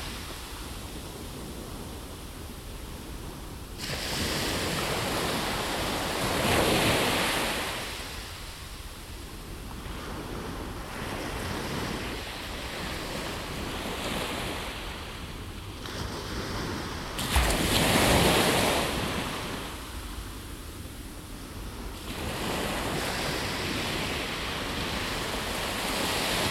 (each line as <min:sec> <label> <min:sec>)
0:00.0 waves breaking 0:26.5